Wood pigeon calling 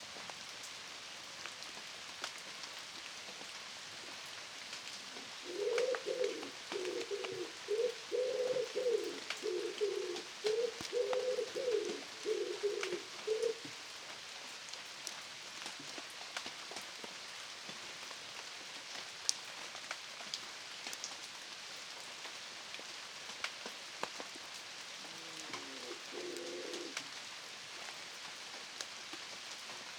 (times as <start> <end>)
5.4 13.7, 25.2 27.0